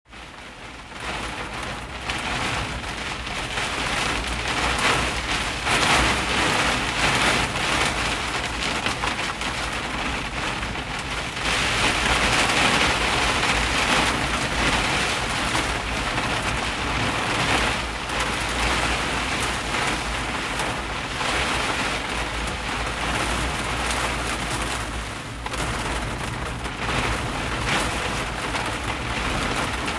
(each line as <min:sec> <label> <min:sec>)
0:00.1 Hard Rain on Jeep Roof 0:29.9